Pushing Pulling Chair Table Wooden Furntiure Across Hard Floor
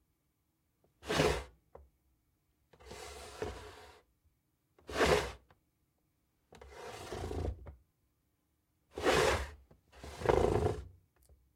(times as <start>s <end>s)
6.7s 7.6s, 9.0s 10.8s